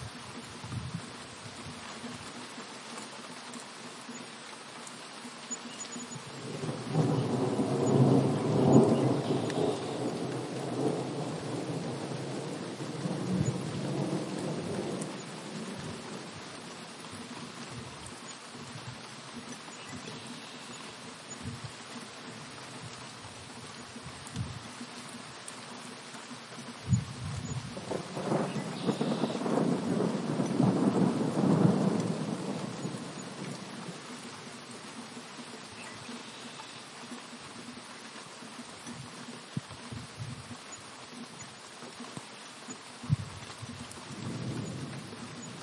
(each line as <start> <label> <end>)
0.0 rain 45.6
0.0 wind 45.6
6.4 thunder 15.9
26.9 thunder 33.6